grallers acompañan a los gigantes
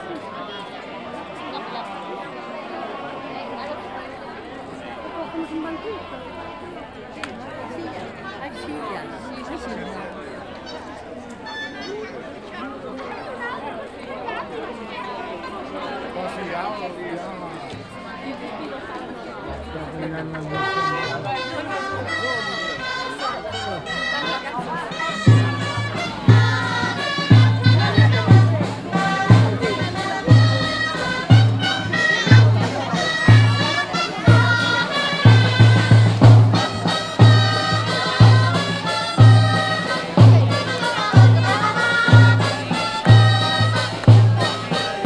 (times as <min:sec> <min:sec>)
0:19.4 0:45.0